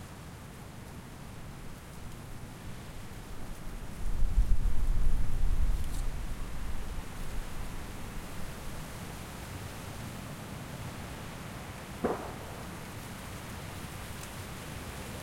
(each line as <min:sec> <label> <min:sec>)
0:12.0 Not-so-distant gunshots 0:14.0
0:12.0 Distant traffic 0:14.3
0:12.0 Distant aircraft 0:15.2